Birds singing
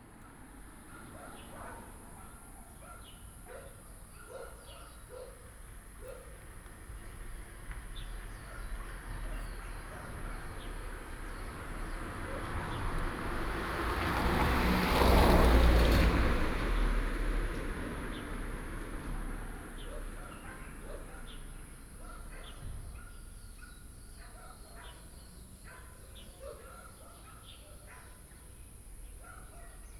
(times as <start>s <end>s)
0.3s 13.2s, 19.4s 29.9s